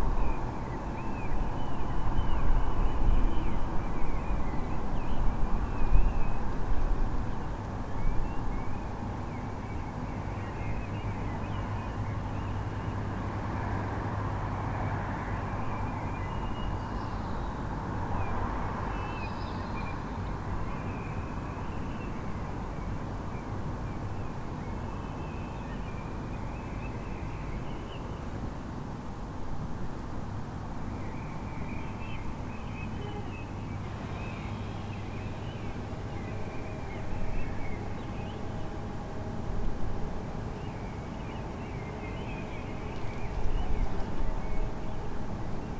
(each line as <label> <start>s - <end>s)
early bird activity 30.9s - 39.2s
early bird activity 40.0s - 45.7s